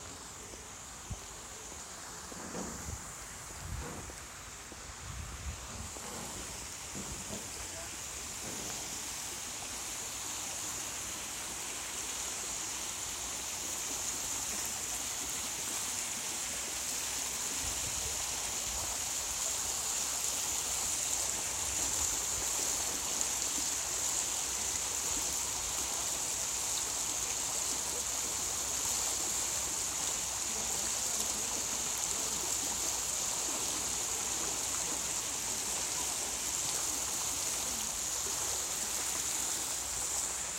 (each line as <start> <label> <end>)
0.0 fountain flowing 40.5